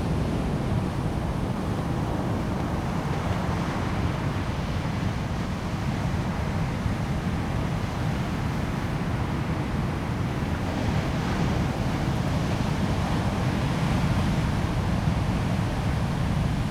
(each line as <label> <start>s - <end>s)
waves 0.0s - 16.7s
wind 0.0s - 16.7s